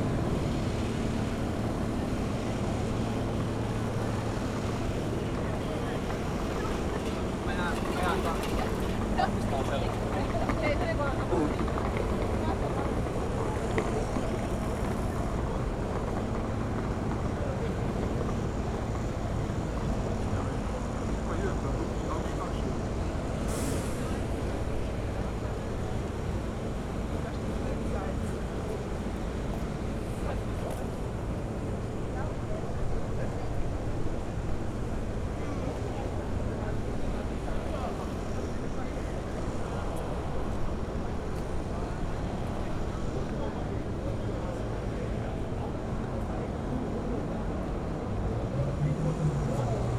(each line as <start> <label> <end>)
0.0 trucks 49.9
0.0 vans 49.9
0.0 police cars 49.9